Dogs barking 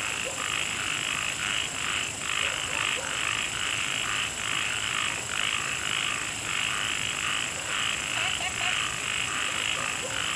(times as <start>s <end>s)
2.4s 3.3s, 9.5s 10.3s